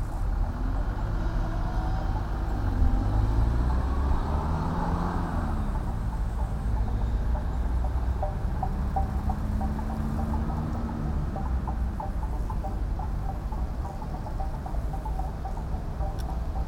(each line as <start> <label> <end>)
0.0 cars 16.6
0.0 tractor 16.6
0.0 wind rattle 16.6